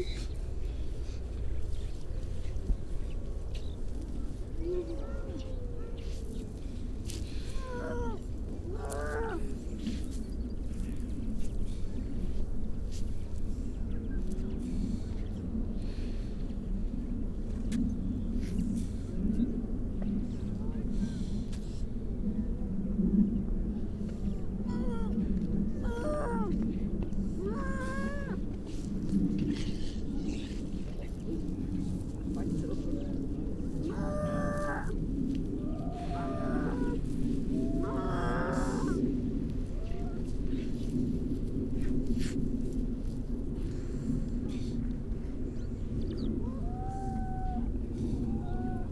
grey seals 0.0 - 11.0
grey seals 23.8 - 41.2
mipit 24.3 - 39.1
starling 35.6 - 39.0
crow 37.6 - 39.0
grey seals 43.5 - 48.9

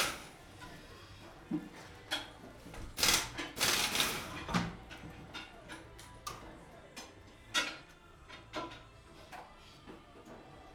mechanics making appointments with customers, chatting 0.0 - 10.7
machines 3.0 - 4.7

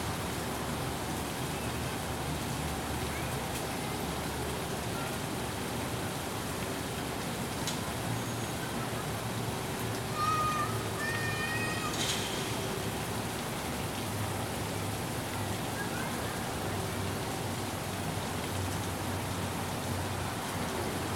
East Water Garden 0.0 - 21.1

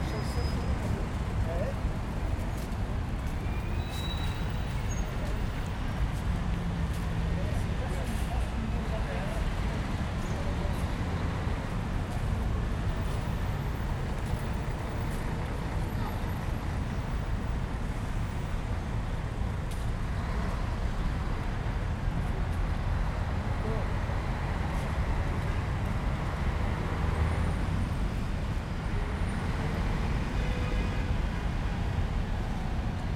Traffic 0.0 - 33.1

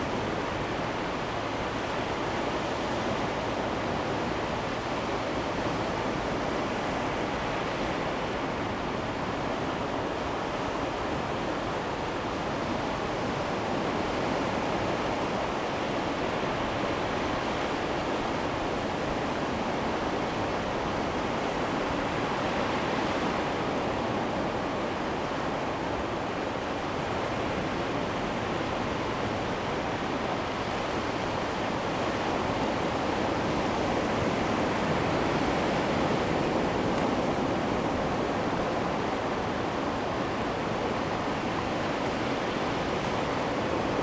Waves 13.9 - 44.0

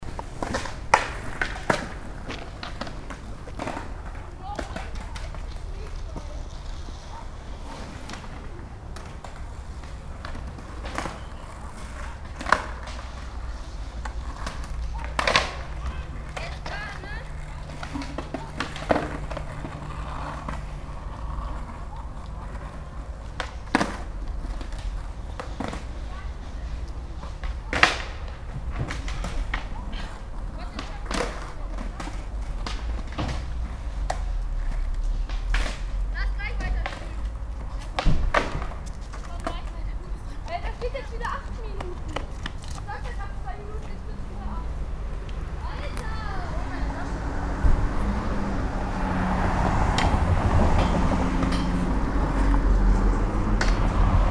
skater on the street 0.0 - 54.3
the tram passes by 43.2 - 54.3
closing of the gates 50.7 - 52.7

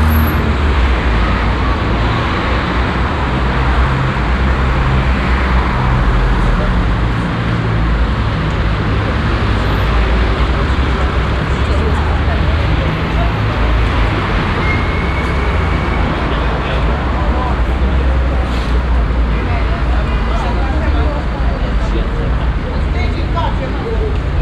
parking and going taxi's 0.0 - 24.4
passengers walking and talking 0.0 - 24.4
passing by traffic 0.0 - 24.4

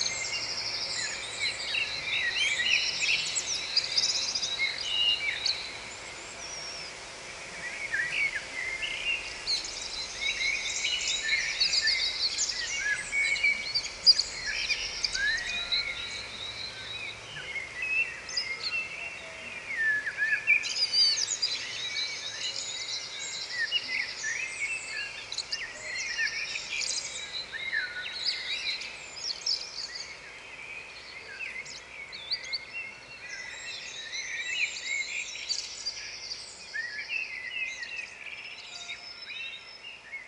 Birds In The Fields 0.0 - 40.2

